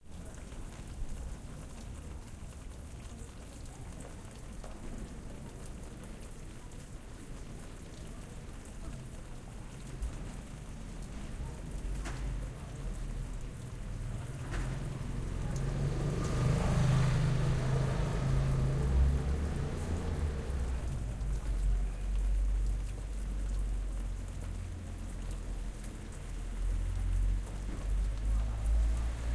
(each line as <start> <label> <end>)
0.0 fountain 29.3
14.6 passage moto 21.0